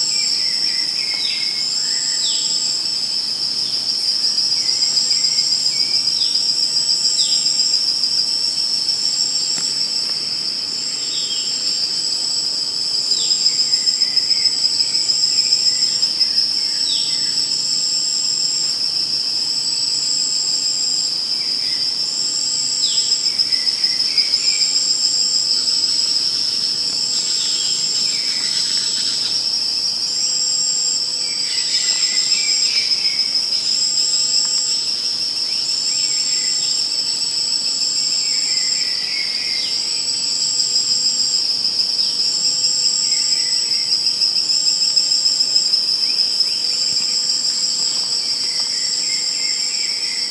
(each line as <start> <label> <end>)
0.0 insects 50.3